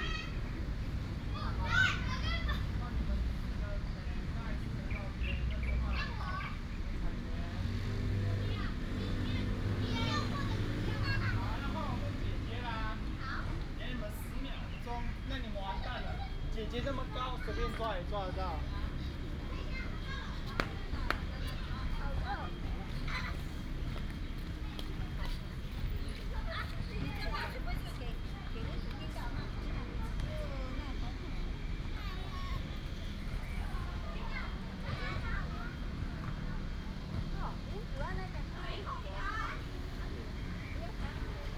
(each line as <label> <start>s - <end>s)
traffic sound 0.0s - 41.5s
Birds 3.9s - 8.1s